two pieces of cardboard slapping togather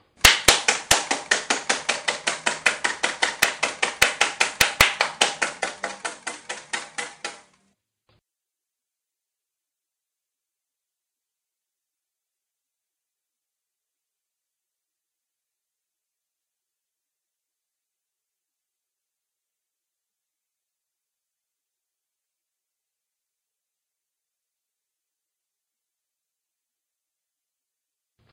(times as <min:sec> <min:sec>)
0:00.2 0:07.5